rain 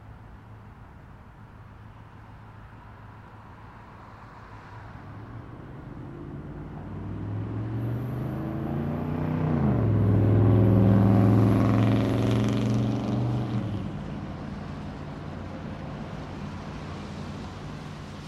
0:14.0 0:18.2

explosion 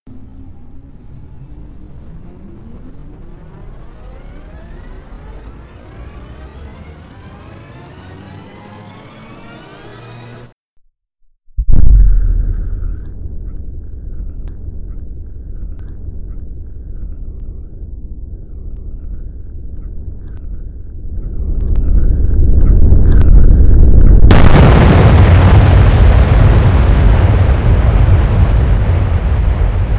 0:01.0 0:10.6, 0:11.6 0:13.6, 0:21.5 0:29.9

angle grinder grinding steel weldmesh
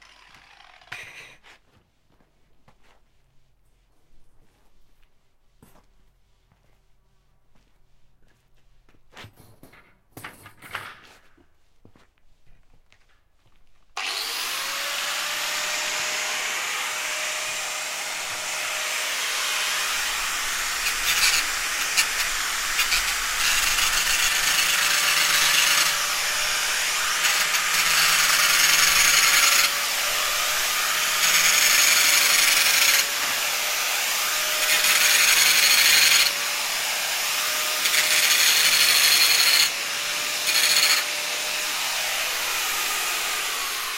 0:00.0 0:01.4, 0:14.0 0:43.9

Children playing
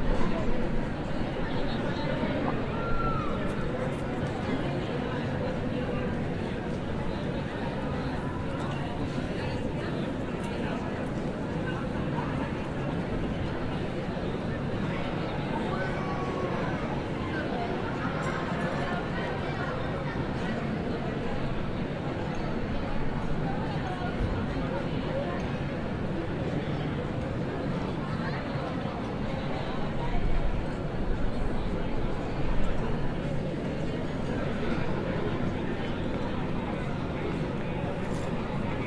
0:01.6 0:03.6, 0:15.5 0:20.2

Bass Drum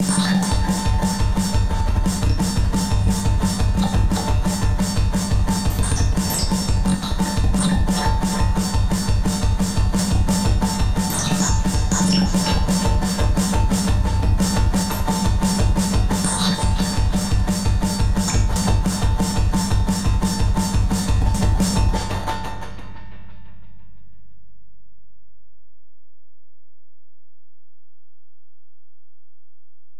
0:00.0 0:23.8

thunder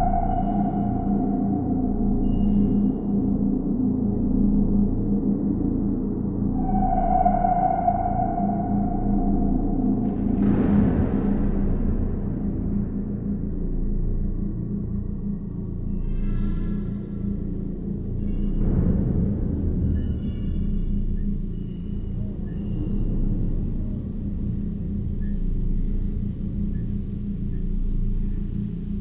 0:09.9 0:13.4

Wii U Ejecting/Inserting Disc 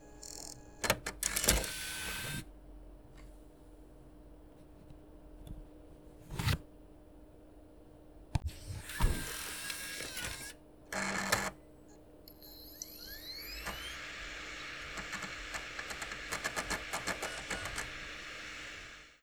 0:08.5 0:11.6, 0:12.5 0:19.0

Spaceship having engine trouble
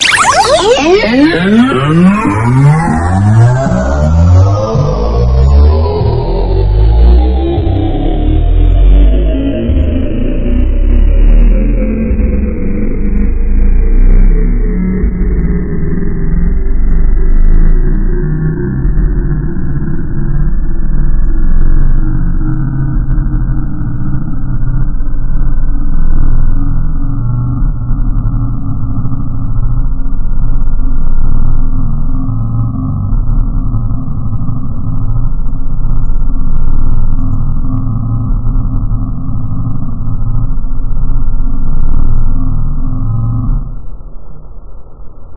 0:00.0 0:14.0

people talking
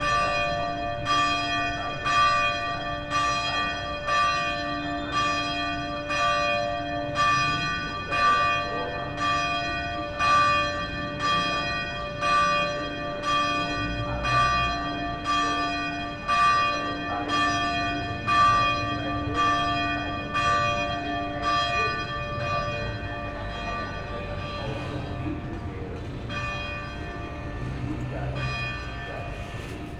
0:21.5 0:26.5, 0:27.1 0:29.9

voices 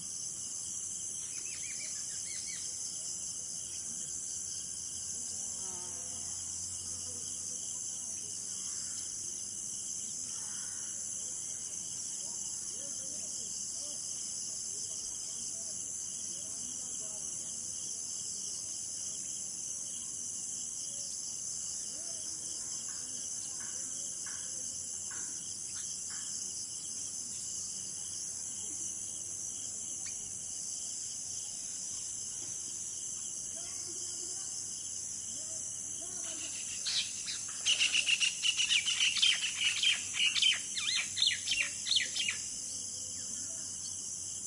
0:33.5 0:43.9

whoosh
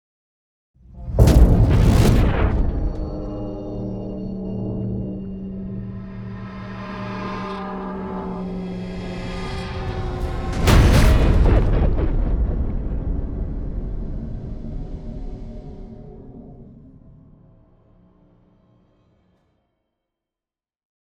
0:00.9 0:16.6

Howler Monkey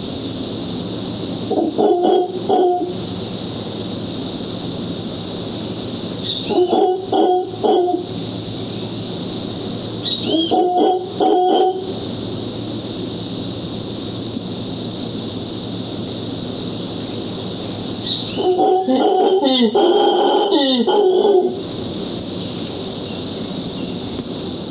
0:01.4 0:03.2, 0:06.2 0:08.2, 0:10.0 0:12.0, 0:18.0 0:21.8

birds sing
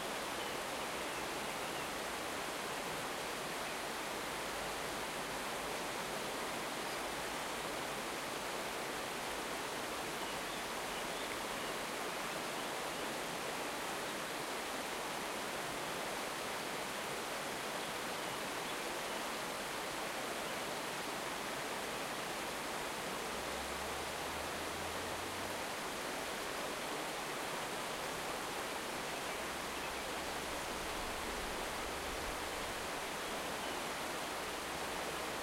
0:00.0 0:04.2, 0:05.0 0:14.7, 0:17.6 0:21.0, 0:25.6 0:35.4

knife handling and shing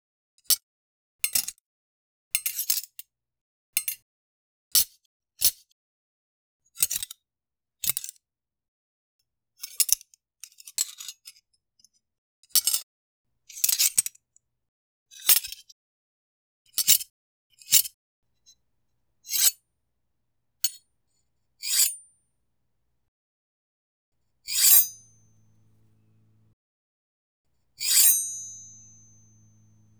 0:24.5 0:26.5, 0:27.8 0:29.9

